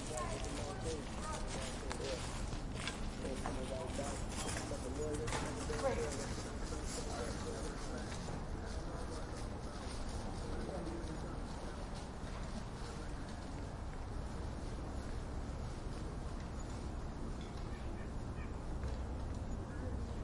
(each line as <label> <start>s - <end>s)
conversation 0.0s - 15.7s